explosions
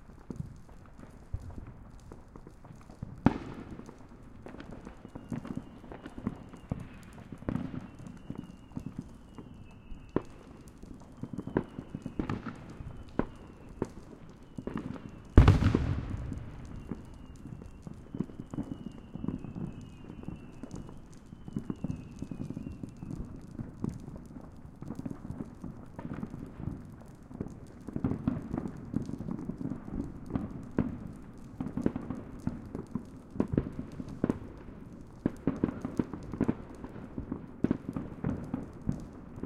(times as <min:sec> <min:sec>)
0:15.4 0:17.2